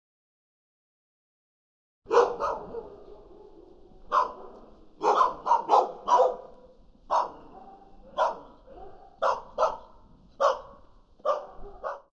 Barking dogs 2.1 - 12.1

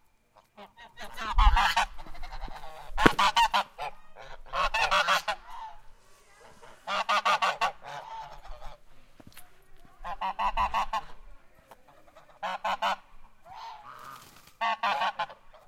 Geese honking 0.3 - 9.0
Geese honking 10.0 - 15.6

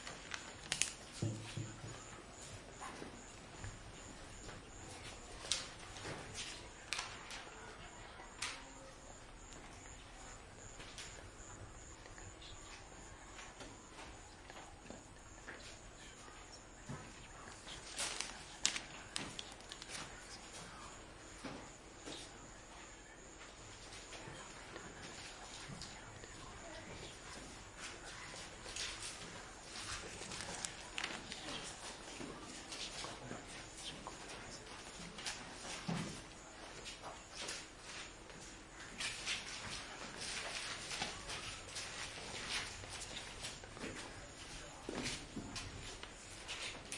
paper noise 0.0 - 1.2
people studying paper noise whispering 0.0 - 46.9
whispering 15.9 - 20.4
paper noise 17.4 - 20.5
paper noise 28.0 - 33.2

